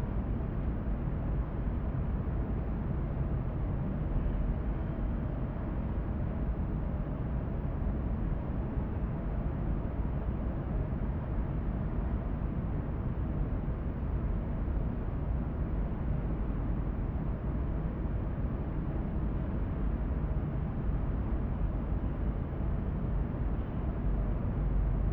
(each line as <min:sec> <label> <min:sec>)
0:00.0 sonorous, constant sound of the room ventilation 0:25.1